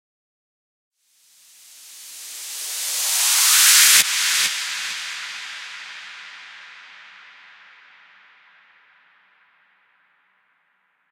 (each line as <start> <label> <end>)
1.8 trance noise rise 7.2